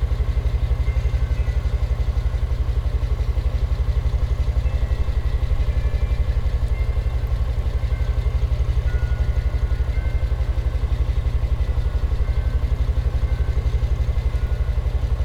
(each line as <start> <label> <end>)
0.0 Idling semi truck 15.2